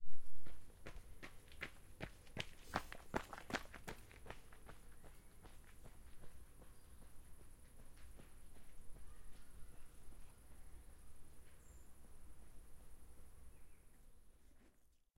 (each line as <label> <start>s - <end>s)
Jogger gravel running 0.4s - 9.8s